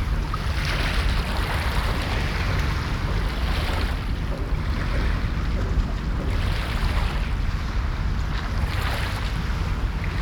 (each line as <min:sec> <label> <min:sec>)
0:00.0 waves 0:10.2